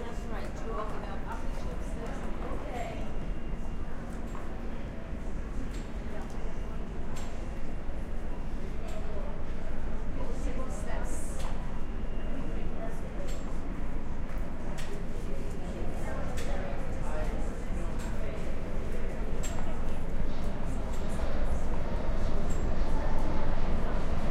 18.6s Passing Train 24.3s

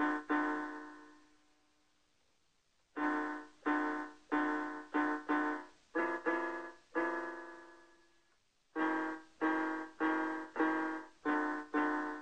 3.0s Melody 7.8s
8.8s Melody 12.2s

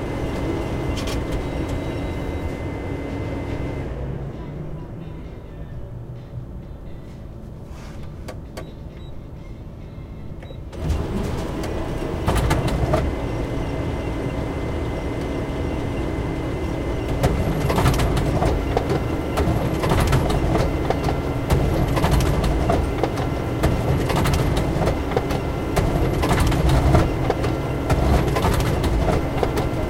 10.8s copy machine 29.8s

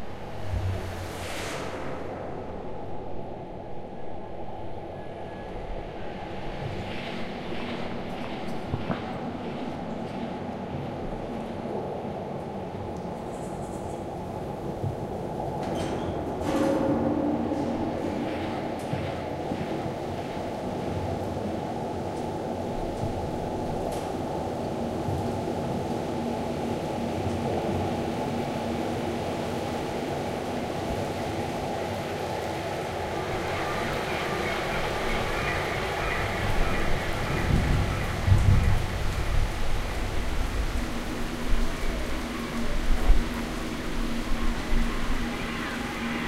0.0s rain 46.2s
14.7s thunder 21.2s
33.3s thunder 43.4s

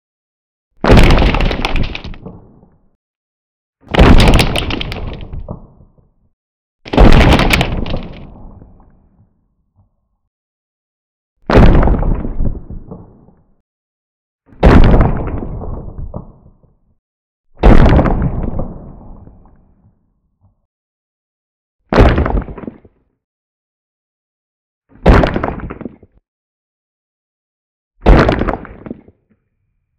0.8s rock impact 2.3s
0.8s debris 2.4s
0.8s explosion 2.7s
0.8s crack 3.0s
0.8s rumble 3.0s
3.9s crack 6.2s
3.9s rock impact 5.6s
3.9s debris 5.7s
3.9s explosion 6.0s
3.9s rumble 6.2s
6.9s rock impact 8.3s
6.9s debris 8.4s
6.9s explosion 8.8s
6.9s crack 9.1s
6.9s rumble 10.0s
11.5s explosion 13.4s
14.6s explosion 16.7s
17.6s explosion 19.6s
25.0s crack 26.2s
28.0s crack 29.5s

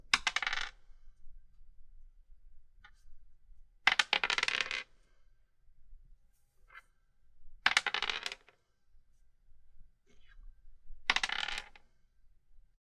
0.1s plastic 10-sided die rolled on a wooden table 0.8s
3.9s plastic 10-sided die rolled on a wooden table 4.9s
7.7s plastic 10-sided die rolled on a wooden table 8.6s
11.1s plastic 10-sided die rolled on a wooden table 11.9s

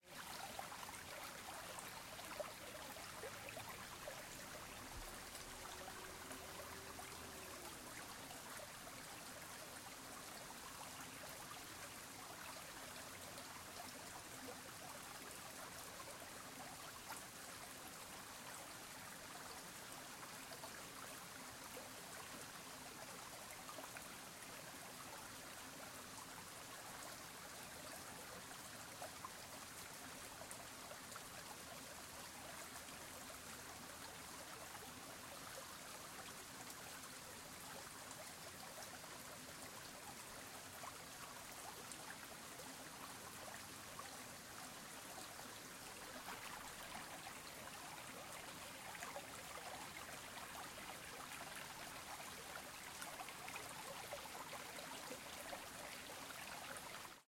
0.0s small river 57.2s

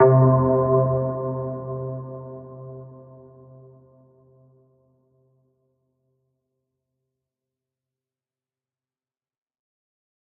0.0s synth 3.3s

